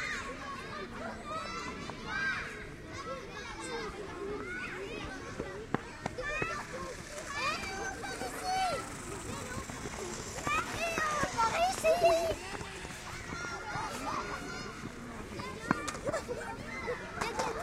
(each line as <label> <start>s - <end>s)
boys are playing just on the left, with a radio-controlled car 0.0s - 17.6s
kids were playing around 0.0s - 17.6s